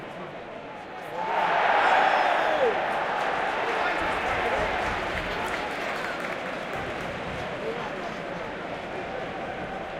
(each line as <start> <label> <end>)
1.1 Crowd Cheer 7.3